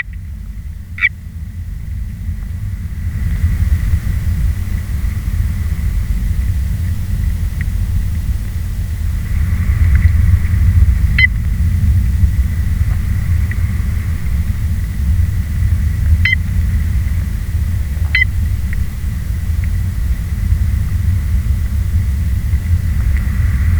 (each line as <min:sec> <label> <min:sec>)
0:00.0 frog 0:01.3
0:01.3 storm 0:23.7
0:09.3 frog 0:19.0